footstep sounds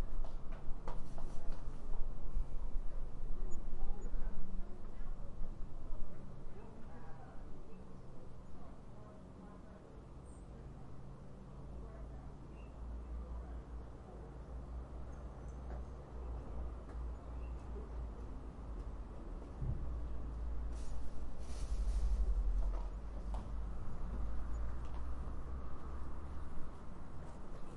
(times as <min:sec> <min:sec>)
0:20.7 0:25.2